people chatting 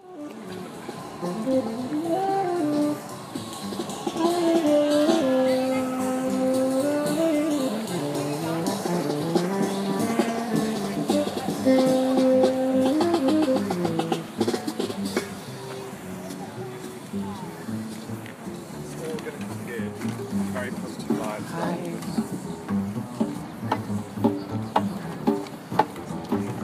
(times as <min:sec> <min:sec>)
0:03.7 0:22.7